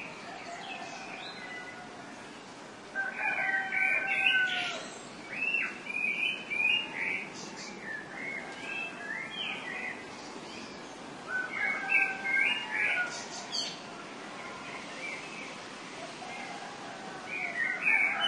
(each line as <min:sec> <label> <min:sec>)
0:00.0 dawn chorus 0:18.2
0:03.0 cocks 0:04.9